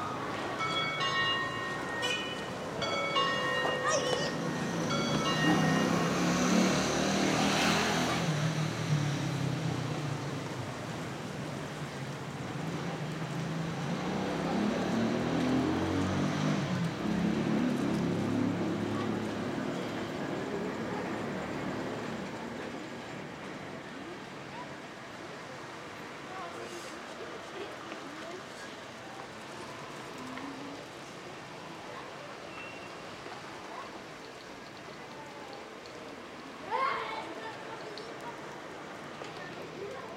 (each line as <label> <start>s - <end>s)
people 0.0s - 8.3s
people 9.2s - 40.1s